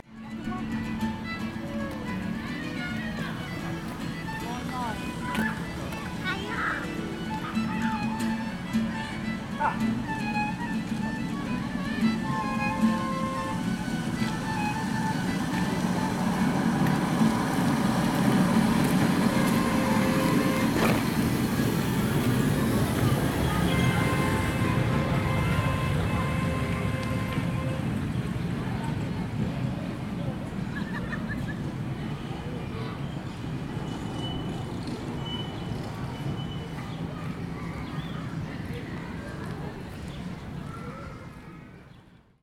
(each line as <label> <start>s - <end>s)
irish train 0.0s - 42.3s